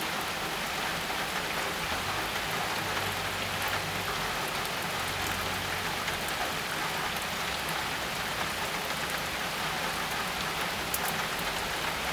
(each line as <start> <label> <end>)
0.0 rain drops far and near increasing in tempo 12.1